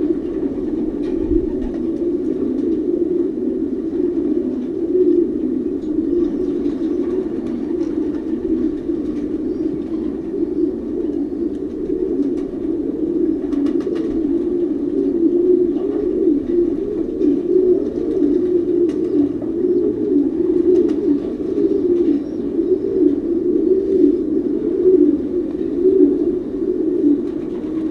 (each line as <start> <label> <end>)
0.0 Pigeons 27.9